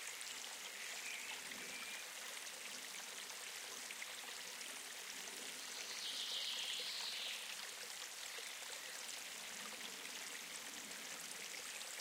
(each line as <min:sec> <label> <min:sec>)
0:00.0 small stream of water 0:12.0